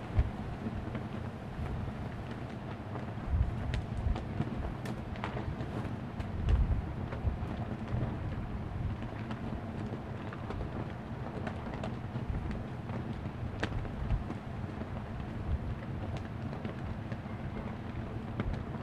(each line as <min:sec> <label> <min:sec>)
0:00.0 Very large flag in the wind and rain 0:18.8